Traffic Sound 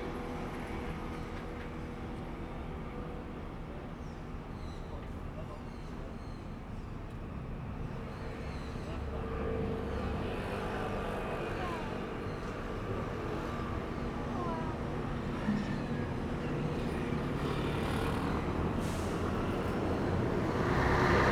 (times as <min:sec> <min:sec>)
0:10.9 0:21.3